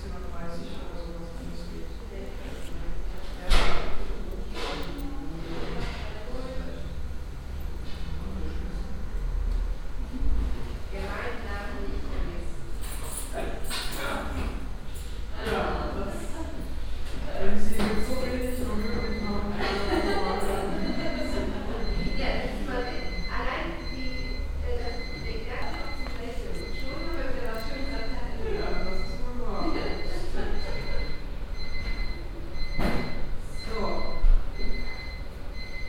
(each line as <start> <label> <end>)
0.0 receptionists talking to patients 9.2
0.0 people talking in a reverbing room 35.8
9.9 receptionists talking to patients 35.8
17.8 beeping signal from a machine 35.8